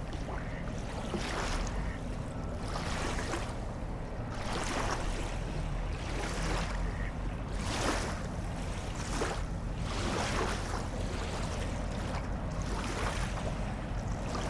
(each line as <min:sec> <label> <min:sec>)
0:00.0 soft wave sounds 0:14.4